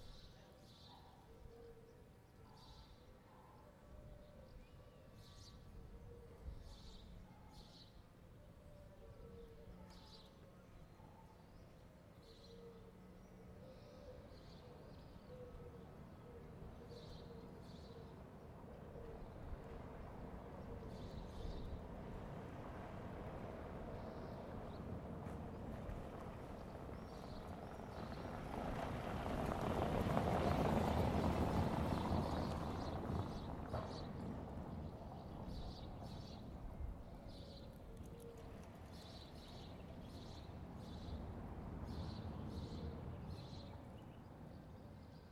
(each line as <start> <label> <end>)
0.0 birds singing 22.0
19.6 car passing by 36.5
31.9 birds singing 45.3